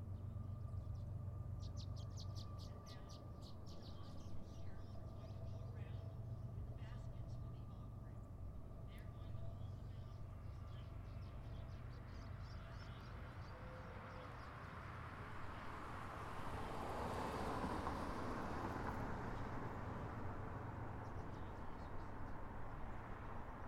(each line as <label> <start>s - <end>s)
distant freight train moving through our little town 0.0s - 23.6s
passing by on his harley 0.0s - 23.6s
passing cars 0.0s - 23.6s
slight breeze 0.0s - 23.6s
birds 0.0s - 15.0s